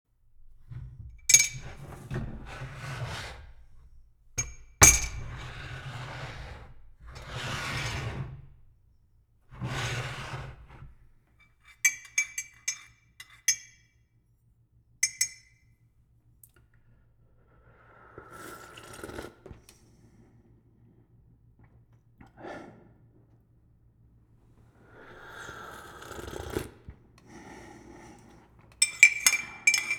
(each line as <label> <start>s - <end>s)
Moving and Handling Tea Cup 0.4s - 8.5s
spoon 1.3s - 1.9s
spoon 4.4s - 5.4s
spoon 11.7s - 13.8s
spoon 15.0s - 15.6s
Moving and Handling Tea Cup 28.8s - 29.9s
spoon 28.8s - 29.9s